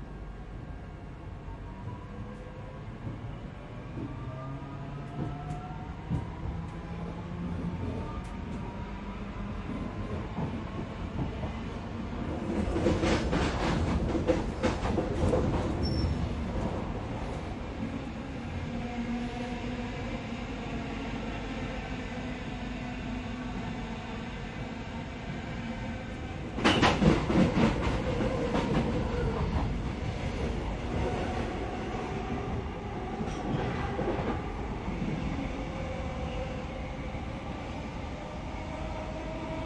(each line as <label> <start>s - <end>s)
trip on a typical EMU train 0.0s - 39.6s